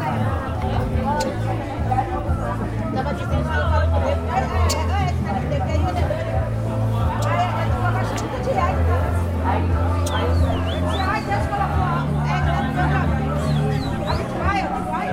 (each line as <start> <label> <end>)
10.0 bird to sing 12.3
13.3 bird to sing 14.5